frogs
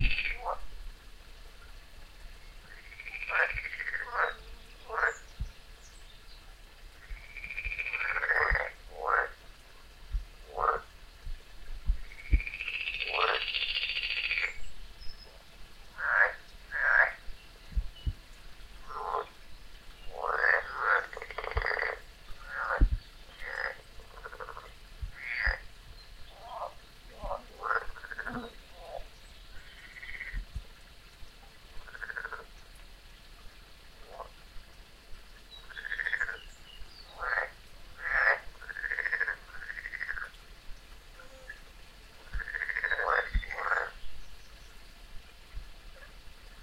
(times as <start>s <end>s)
0.0s 0.6s, 2.6s 5.3s, 7.0s 9.4s, 10.4s 10.9s, 12.0s 14.6s, 15.2s 17.3s, 18.8s 19.4s, 20.1s 25.7s, 26.3s 30.4s, 31.8s 32.5s, 34.0s 34.3s, 35.5s 40.4s, 42.2s 44.0s